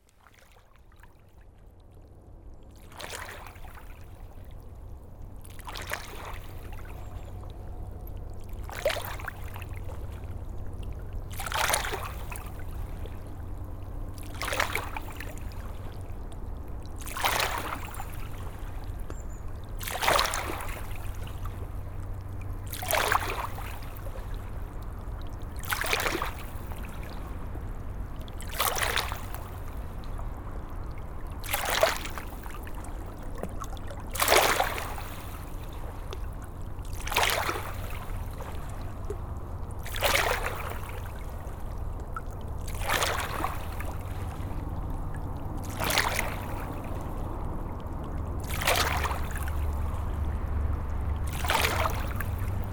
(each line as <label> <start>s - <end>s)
boat passing by on the Seine river 0.0s - 52.7s
river flowing 36.8s - 41.9s
river flowing 42.5s - 52.7s